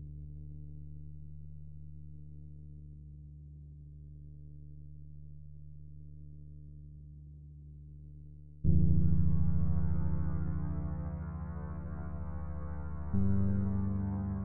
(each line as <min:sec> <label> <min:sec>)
0:00.0 bass 0:14.4